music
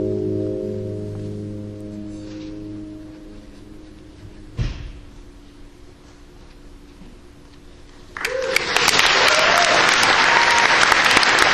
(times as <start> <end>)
0.0 5.0